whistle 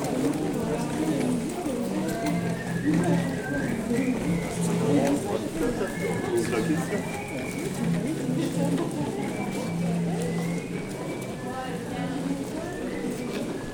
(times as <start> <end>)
2.2 8.0, 9.3 11.9, 12.6 13.7